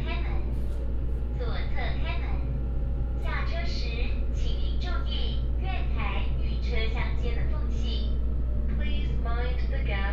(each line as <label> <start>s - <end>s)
railway carriage 0.0s - 10.1s